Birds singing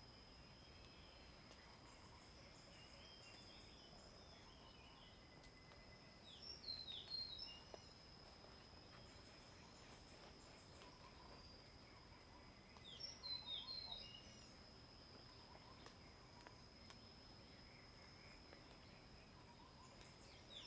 0:09.0 0:14.6, 0:17.5 0:20.6

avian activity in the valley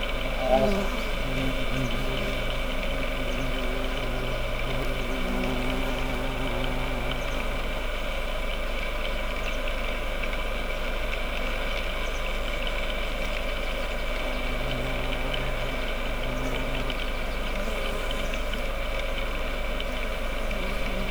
0:00.0 0:07.8, 0:13.3 0:18.9

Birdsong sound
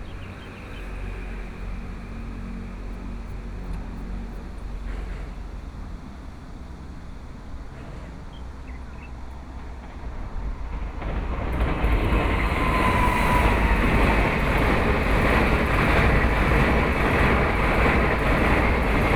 0:00.0 0:01.4, 0:08.2 0:09.6

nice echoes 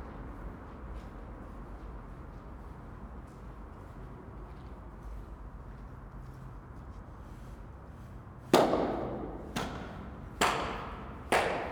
0:10.4 0:11.7

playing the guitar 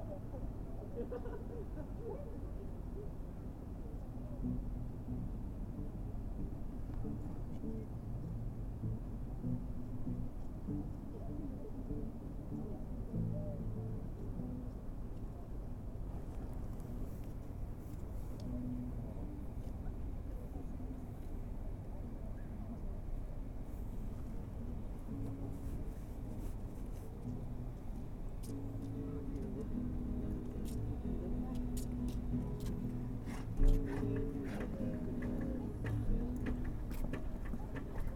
0:04.4 0:15.4, 0:18.4 0:19.5, 0:24.8 0:38.1

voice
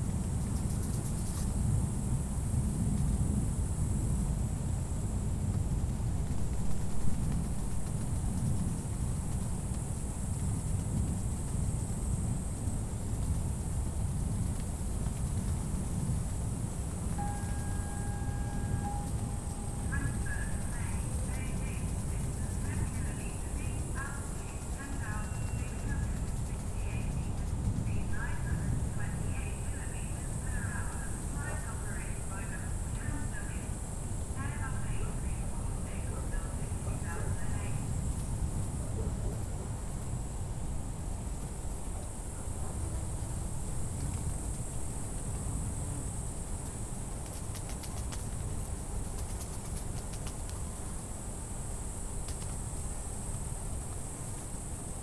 0:17.2 0:37.9

